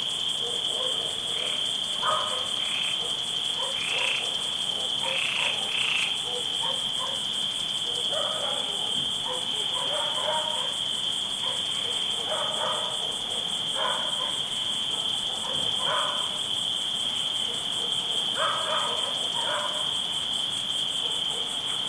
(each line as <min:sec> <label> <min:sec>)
0:00.0 crickets chirping 0:21.8
0:00.1 frogs croaking 0:20.2
0:00.3 distant dog barkings 0:16.5
0:17.4 distant dog barkings 0:20.0
0:21.0 distant dog barkings 0:21.8